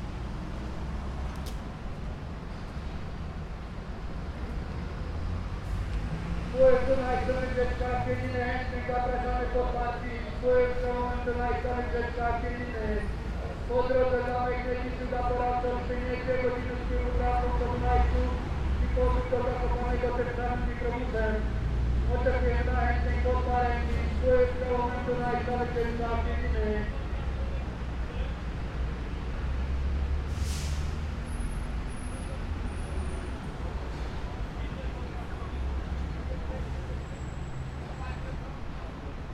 bus trip advertisement 0:00.0 - 0:39.3

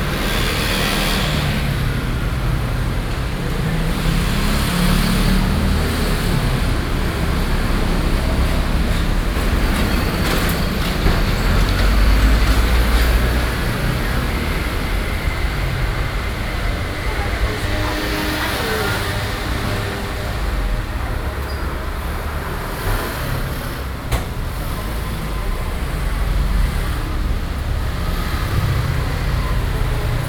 Traffic Noise 0:00.0 - 0:30.2

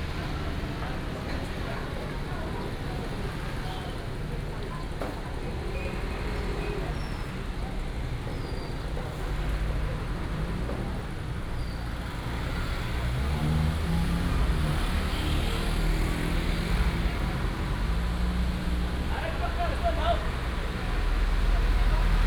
Traffic sound 0:00.0 - 0:22.2

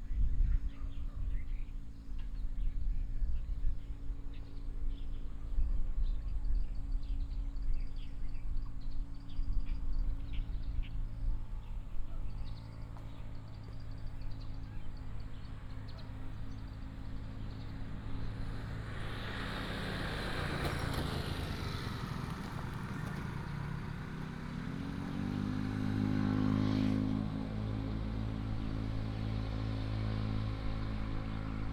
Traffic sound 0:10.9 - 0:31.7

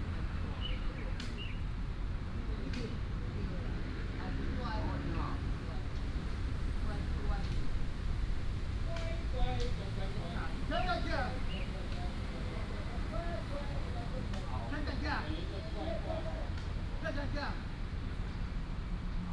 traffic sound 0:00.0 - 0:19.3
wind 0:00.0 - 0:19.3
birds sound 0:00.2 - 0:01.9
birds sound 0:10.6 - 0:12.4

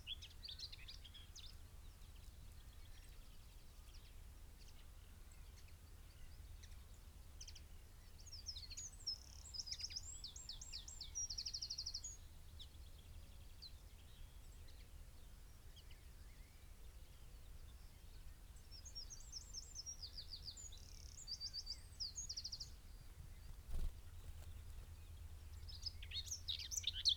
pheasant 0:00.0 - 0:27.1
song thrush 0:03.9 - 0:27.1
blackbird 0:15.7 - 0:27.1

